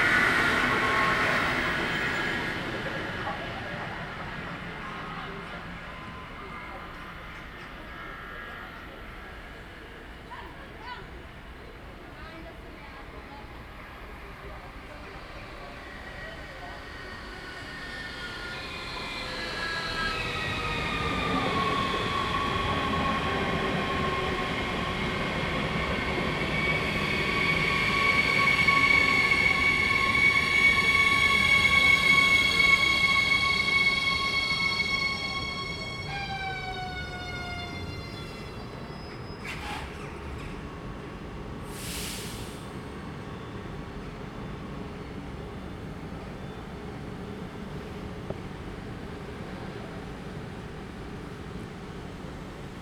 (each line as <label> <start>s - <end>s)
trains passing 0.0s - 52.8s